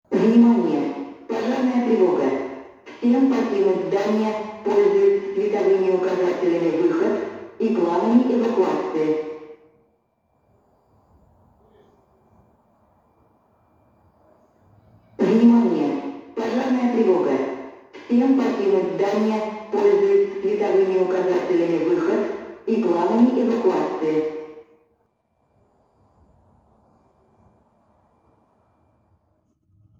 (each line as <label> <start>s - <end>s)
russian speech 0.1s - 9.2s
russian speech 15.2s - 24.3s